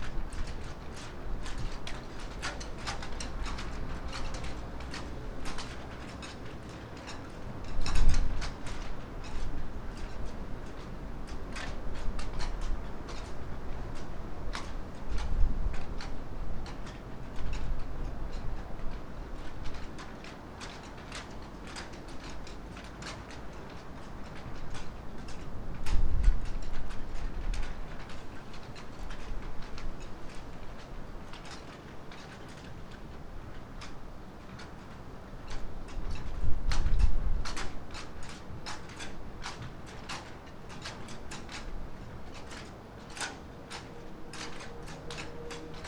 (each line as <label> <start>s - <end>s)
flagsticks in the wind 0.0s - 45.8s